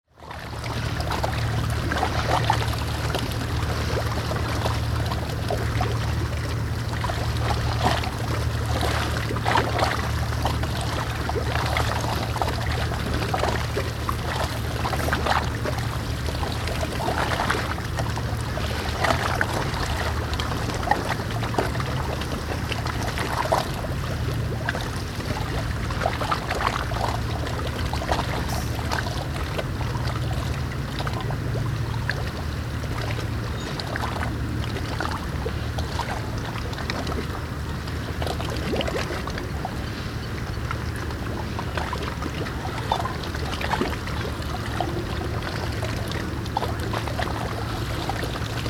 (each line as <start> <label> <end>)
0.0 small waves against the dock 48.6